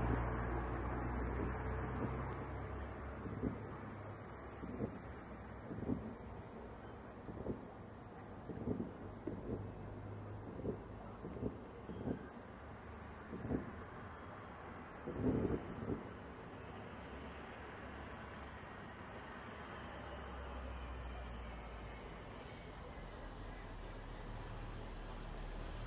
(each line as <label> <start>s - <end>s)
fireworks 3.2s - 3.9s
fireworks 8.4s - 9.6s
fireworks 10.4s - 12.4s